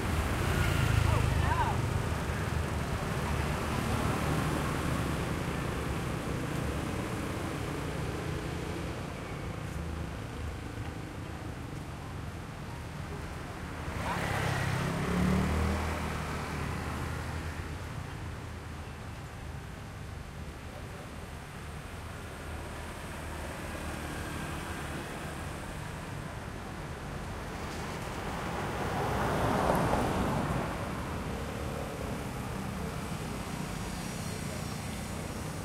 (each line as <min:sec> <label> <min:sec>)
0:00.0 Motorbikes 0:11.2
0:00.0 people passing by 0:19.5
0:00.0 cars 0:35.6
0:13.5 Motorbikes 0:18.3
0:20.1 people passing by 0:35.6
0:22.2 Motorbikes 0:35.6